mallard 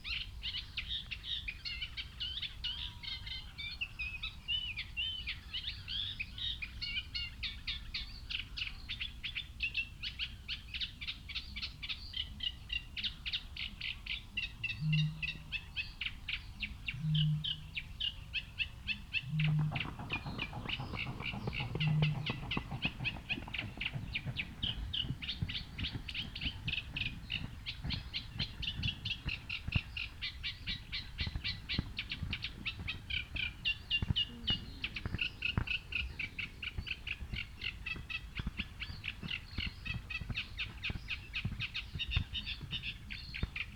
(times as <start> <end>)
19.4 24.3